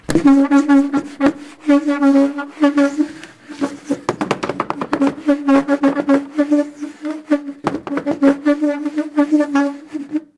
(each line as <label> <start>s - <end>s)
squeaking 0.0s - 10.2s